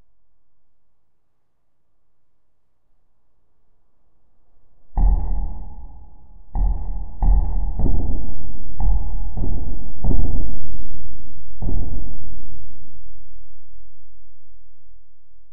drum sound 0:06.6 - 0:10.5

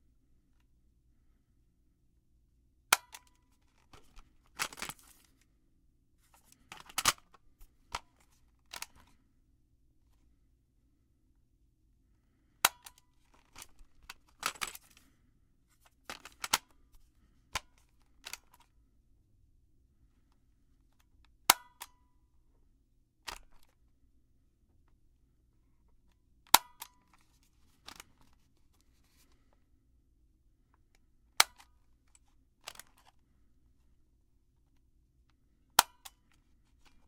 Cassette Player and Tape Fiddling 0:03.0 - 0:05.3
Cassette Player and Tape Fiddling 0:06.4 - 0:09.2
Cassette Player and Tape Fiddling 0:15.9 - 0:16.6

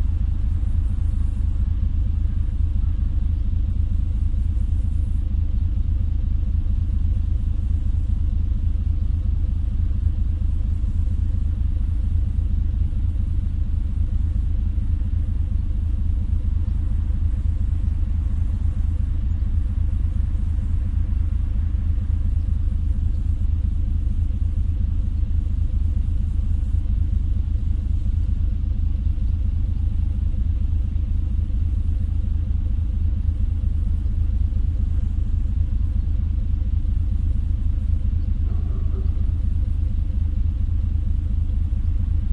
Ferry over the river Elbe 0:00.0 - 0:42.3

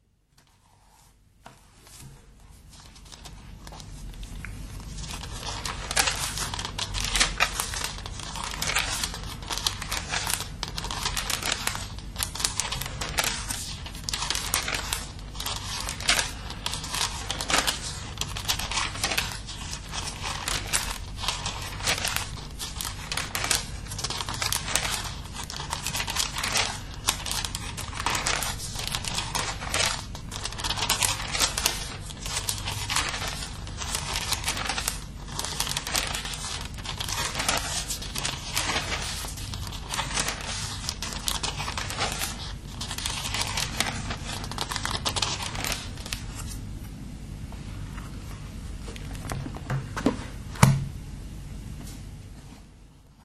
turning pages 0:00.3 - 0:50.8

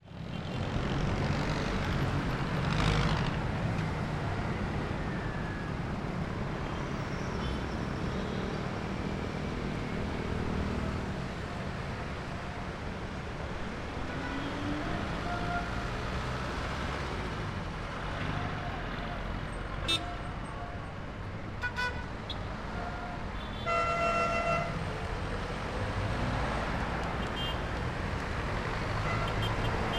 cars 0:00.0 - 0:29.9
trucks 0:00.0 - 0:29.9
motorcycles 0:00.1 - 0:04.9
siren of a police car 0:04.0 - 0:06.0

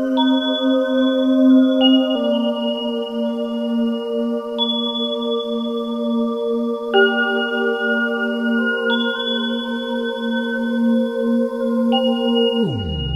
ambient melodies 0:07.0 - 0:13.1
ambient droning 0:12.4 - 0:13.1

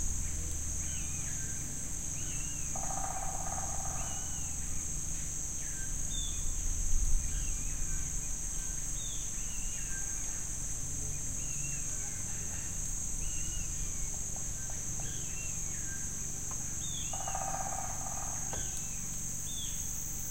crickets 0:00.0 - 0:20.3

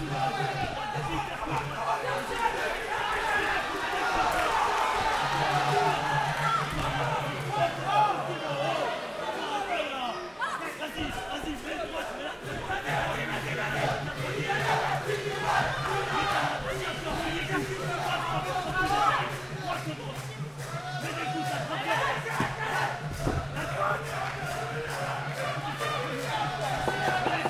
fervent supporters shouting 0:00.0 - 0:19.9
speaker 0:05.6 - 0:27.4
fervent supporters shouting 0:20.7 - 0:27.4

